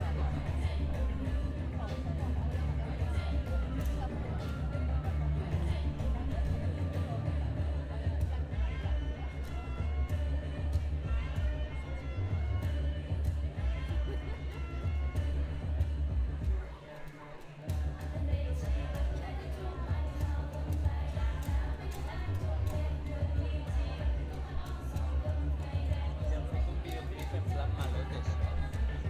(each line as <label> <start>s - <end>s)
Circus Music Performance 0.0s - 29.0s
festive audience atmosphere 0.0s - 29.0s
percussion 0.0s - 29.0s